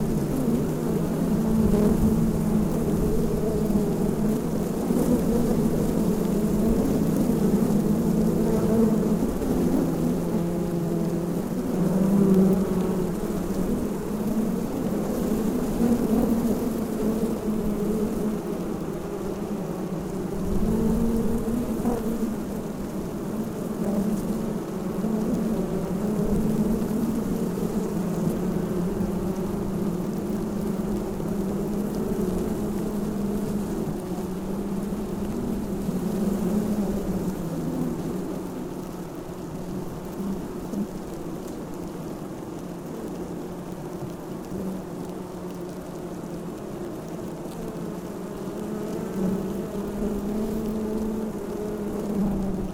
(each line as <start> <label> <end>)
0.0 bees in a box 52.7